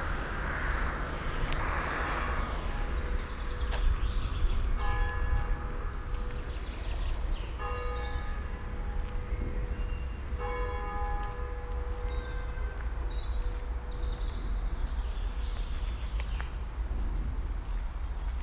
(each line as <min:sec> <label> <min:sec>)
0:01.6 bells 0:15.4